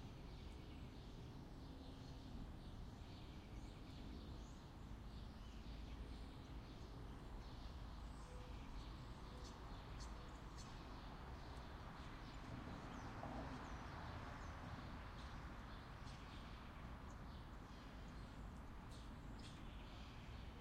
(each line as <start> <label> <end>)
0.1 sparrows 20.6